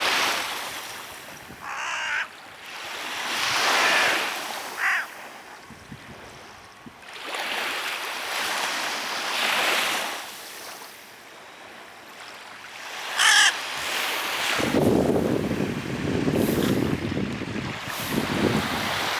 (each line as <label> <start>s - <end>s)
Baltic Sea Waves 0.0s - 19.1s
wind 0.0s - 19.1s
crow searches for food among the sand and shells 0.0s - 5.5s
hooded crow foraging on the Baltic shoreline 0.0s - 5.7s
hooded crow foraging on the Baltic shoreline 8.2s - 19.1s
crow searches for food among the sand and shells 12.7s - 15.8s
crow searches for food among the sand and shells 16.4s - 17.0s